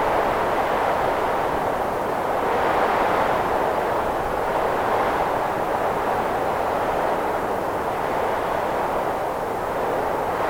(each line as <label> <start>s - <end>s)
Wind is gelid and powerful 0.0s - 10.4s